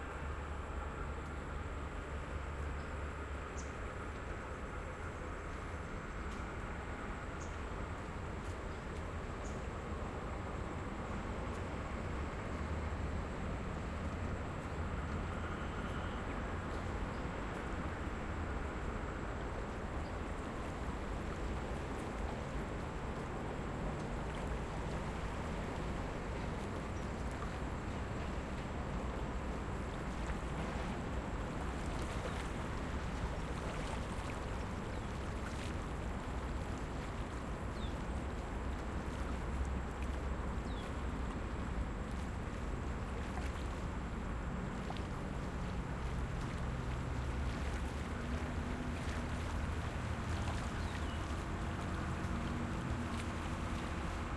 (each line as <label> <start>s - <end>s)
traffic 0.0s - 54.3s
water 0.0s - 54.3s
water boat 0.0s - 54.3s